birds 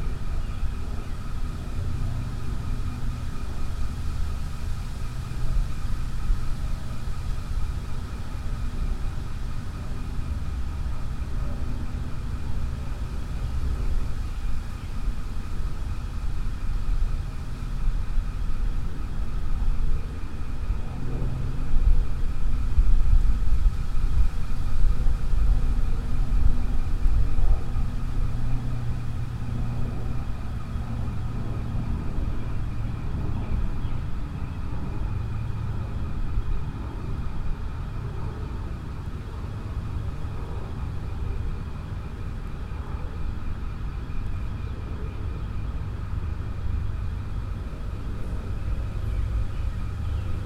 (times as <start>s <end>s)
40.3s 50.4s